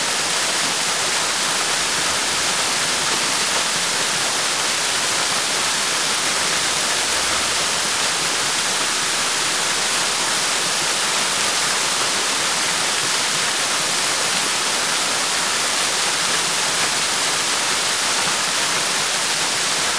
Waterfall 0.0 - 19.9

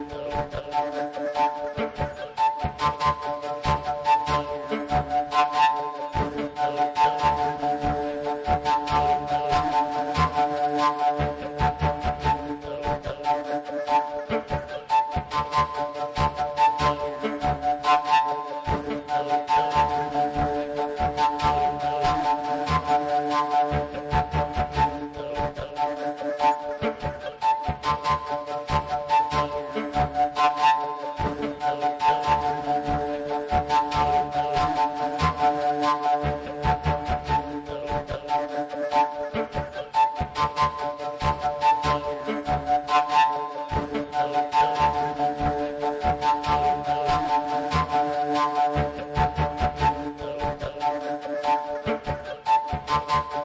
homemade Fujara made of platic waste pipe 0.0 - 53.4

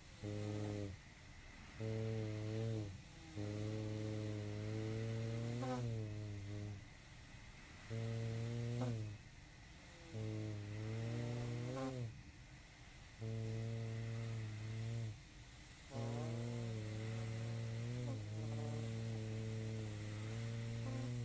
breathing 0.0 - 21.2
decrepit Constant Positive Air Pressure sleeping machine 0.0 - 21.2
fart 0.2 - 1.0
fart 1.8 - 6.8
fart 7.8 - 9.2
fart 10.1 - 12.1
fart 13.2 - 15.2
fart 15.9 - 21.2

